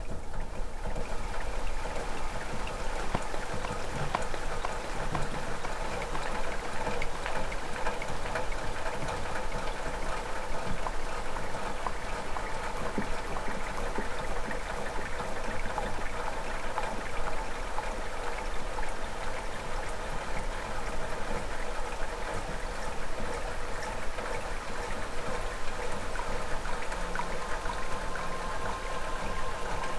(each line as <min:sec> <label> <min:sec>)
0:00.0 wind 0:29.9
0:00.8 Water dripping 0:17.4
0:23.2 Water dripping 0:29.9
0:26.6 Pad sounds 0:29.9